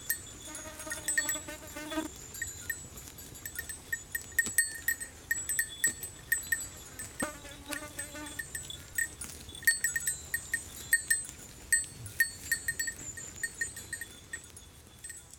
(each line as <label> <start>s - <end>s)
Goats 0.0s - 15.3s
bell 0.0s - 15.3s